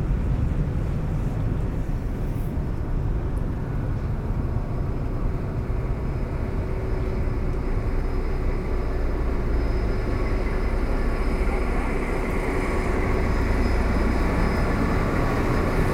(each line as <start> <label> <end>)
0.0 boat is passing by on the Seine river 15.9